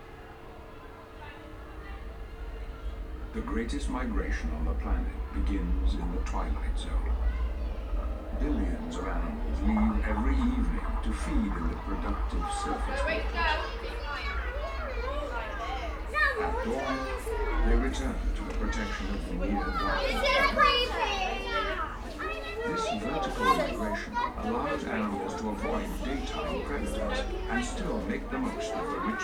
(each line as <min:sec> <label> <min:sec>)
0:00.0 deep water feature 0:29.2